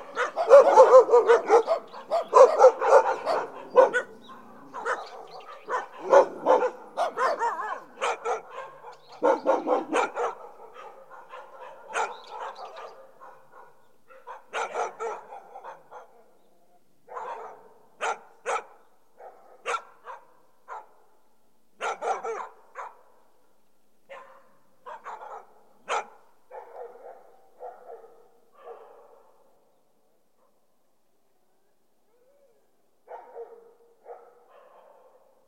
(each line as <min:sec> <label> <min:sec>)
0:00.0 farm dogs 0:16.4
0:17.1 farm dogs 0:21.0
0:21.8 farm dogs 0:23.2
0:24.1 farm dogs 0:29.6
0:33.1 farm dogs 0:35.4